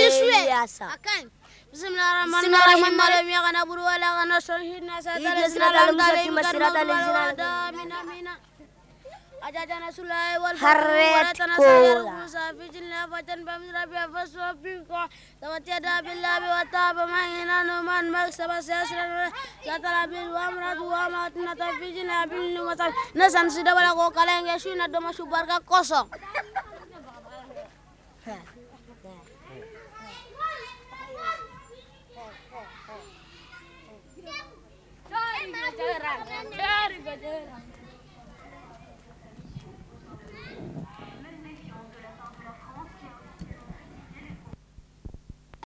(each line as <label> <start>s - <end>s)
young boy recits surah 0.0s - 27.5s